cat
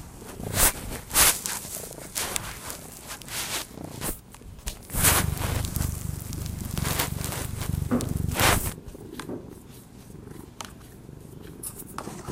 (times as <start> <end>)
5.1 12.3